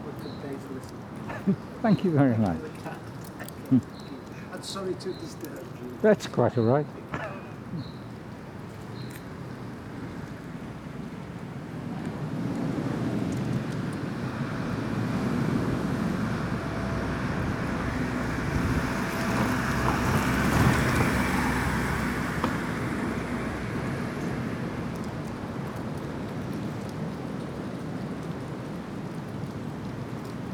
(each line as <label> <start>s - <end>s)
man with two dogs 0.0s - 8.7s